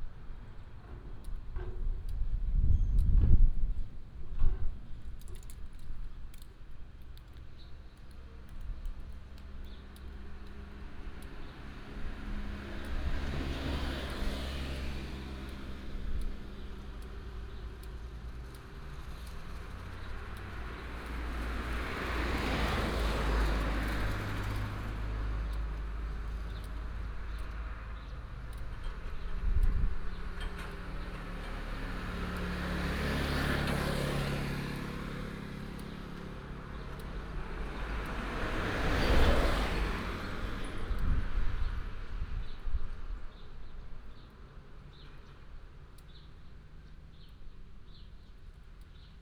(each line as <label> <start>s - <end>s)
Traffic sound 0.0s - 49.2s